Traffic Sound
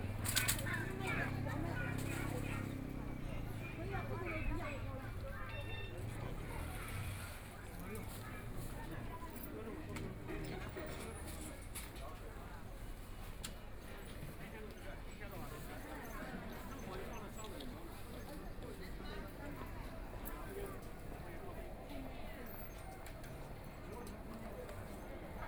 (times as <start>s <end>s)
0.0s 11.8s